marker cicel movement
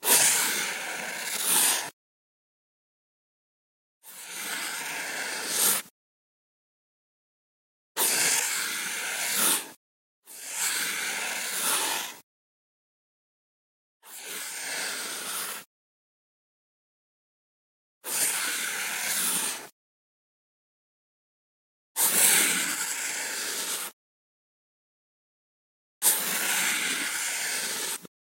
0.1 2.0, 4.1 5.9, 8.0 9.8, 22.1 24.0, 26.0 28.1

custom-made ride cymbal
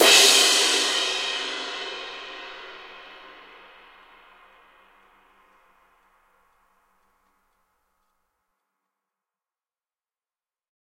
0.0 8.1

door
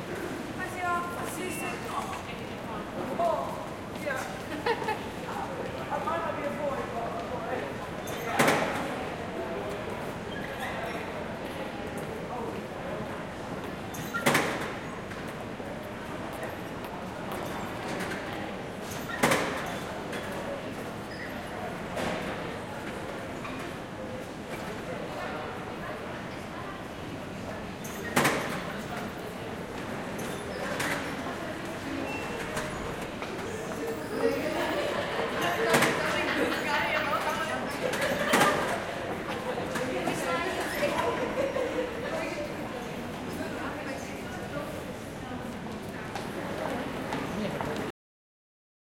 8.4 8.8, 14.0 14.7, 19.1 19.8, 28.0 28.6

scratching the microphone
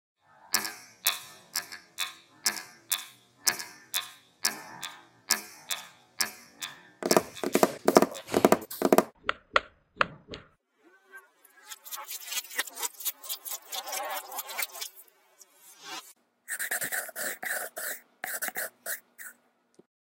7.1 9.2

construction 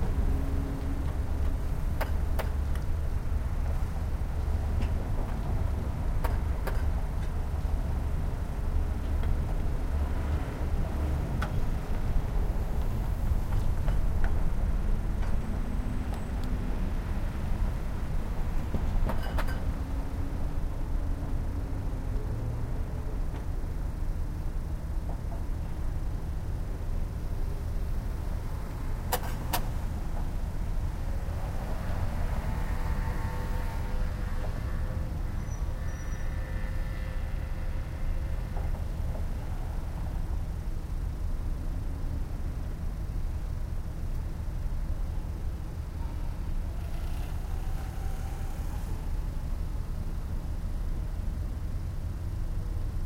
18.0 21.4

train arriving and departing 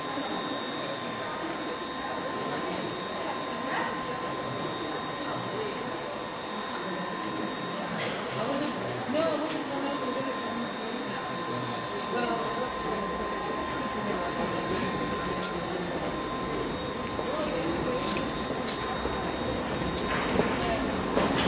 9.4 21.4

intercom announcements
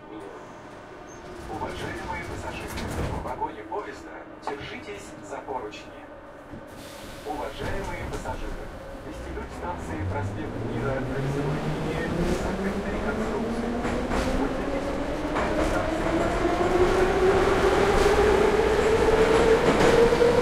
1.4 6.2, 7.2 16.3

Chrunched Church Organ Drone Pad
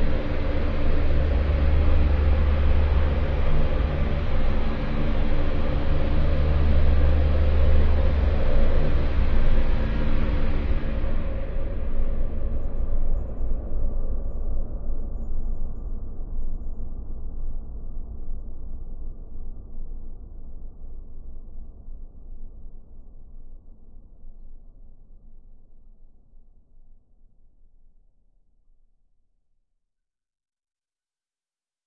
0.0 13.4

